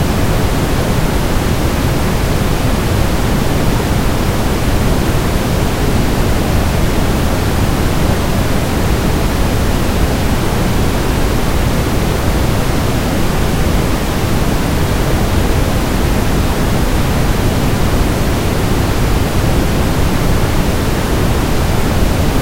plain brown noise 0:00.0 - 0:22.4

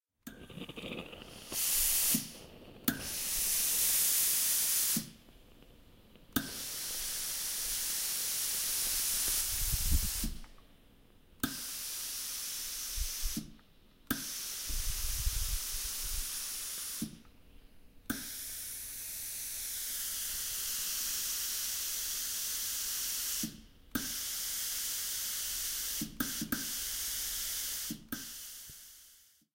Ironer Steam 0:00.3 - 0:05.2
Ironer Steam 0:06.4 - 0:10.5
Ironer Steam 0:11.4 - 0:17.3
Ironer Steam 0:18.1 - 0:29.4

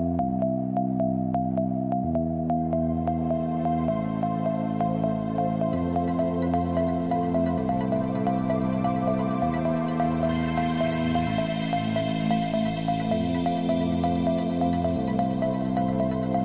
Synths 0:00.0 - 0:16.4

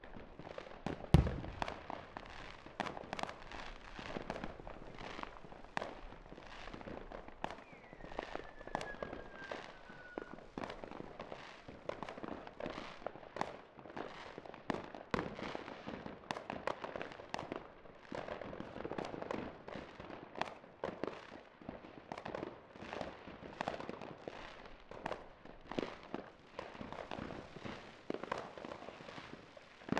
firecrackers 0:00.0 - 0:29.9
rockets 0:00.9 - 0:11.3
Individual explosions with natural spacing 0:01.2 - 0:01.8
Fireworks Deep Sub Blast 0:01.2 - 0:02.9
Crackling Fall 0:01.2 - 0:06.8
Whistler 0:07.6 - 0:10.4

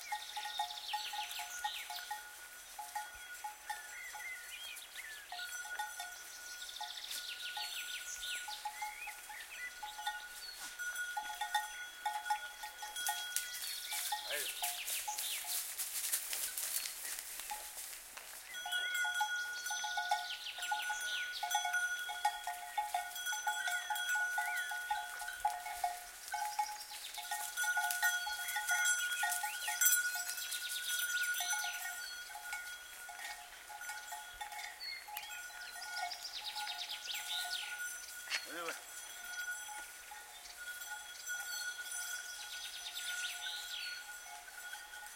birds 0:00.0 - 0:17.7
cow with a wooden bell 0:00.0 - 0:45.1
goats with bells on their neck grazing 0:00.0 - 0:45.1
footsteps in the grass 0:13.1 - 0:18.6
birds 0:18.4 - 0:45.0

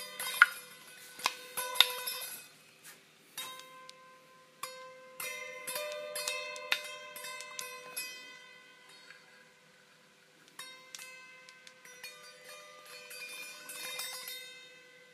metallic dinging sound coming from a small hammer 0:03.4 - 0:09.2

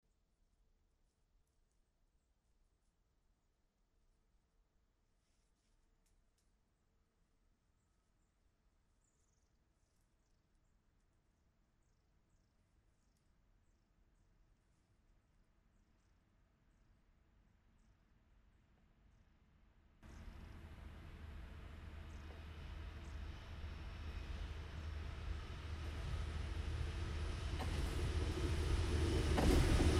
Train pass by at full speed 0:20.0 - 0:29.9

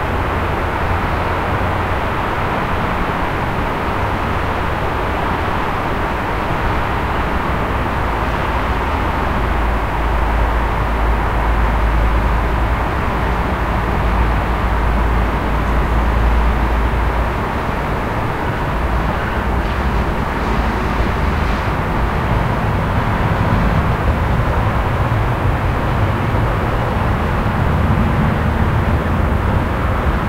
city background noise 0:00.0 - 0:30.2

